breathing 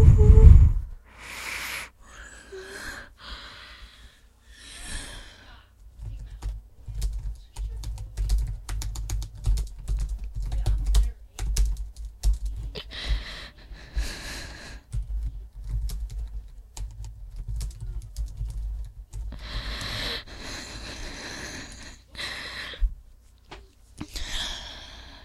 0:01.0 0:05.7, 0:12.8 0:15.0, 0:19.3 0:22.9, 0:24.1 0:25.2

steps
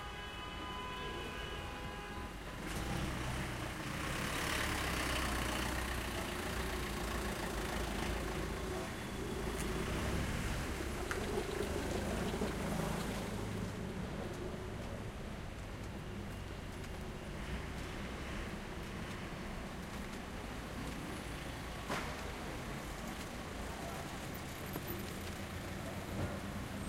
0:14.1 0:23.4

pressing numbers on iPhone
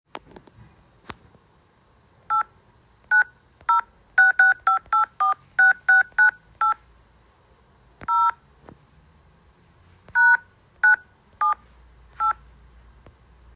0:03.1 0:06.8

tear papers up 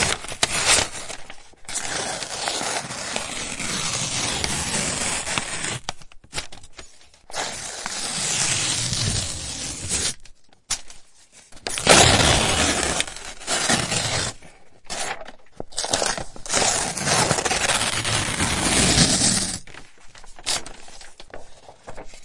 0:11.6 0:22.2

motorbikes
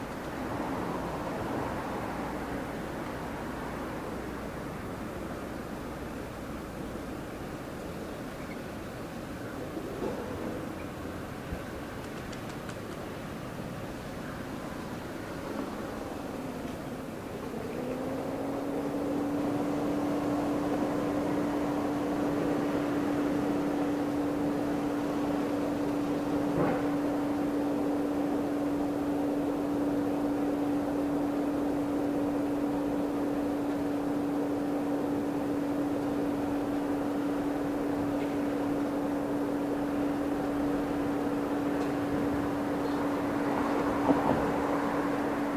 0:15.2 0:45.5

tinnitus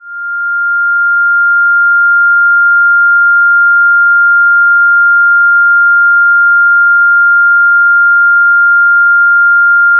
0:00.0 0:07.5

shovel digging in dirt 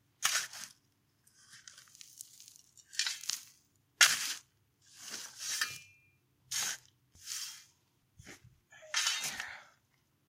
0:00.2 0:00.8, 0:02.0 0:07.6, 0:08.3 0:09.5

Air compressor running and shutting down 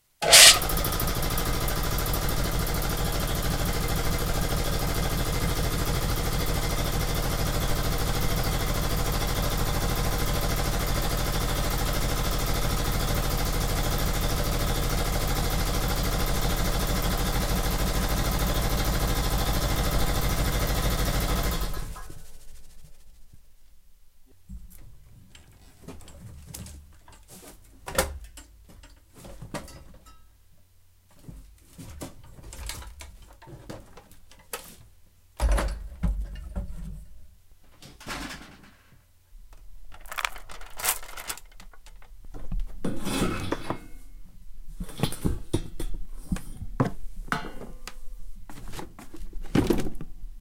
0:00.2 0:22.4

